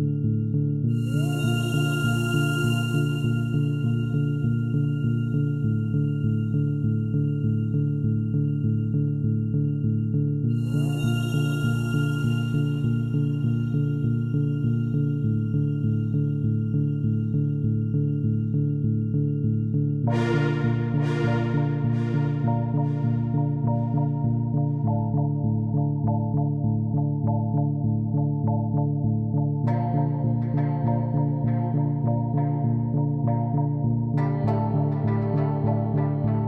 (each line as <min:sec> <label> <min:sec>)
0:00.9 synth 0:19.4
0:20.0 synth 0:26.4